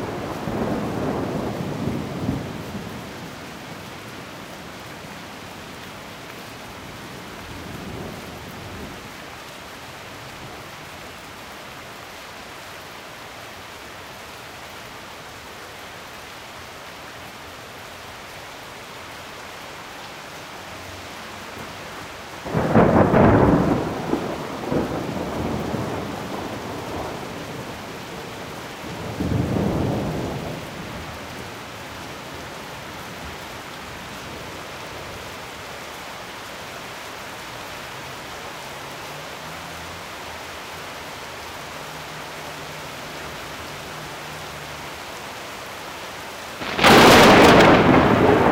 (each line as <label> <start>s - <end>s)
rain 0.0s - 48.5s
thunders 46.6s - 48.5s